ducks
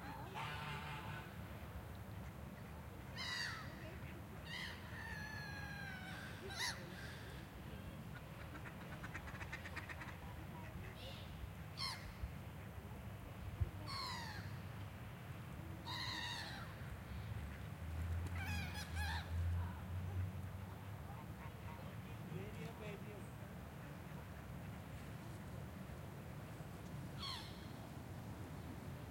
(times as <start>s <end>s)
0.1s 1.4s, 8.1s 12.8s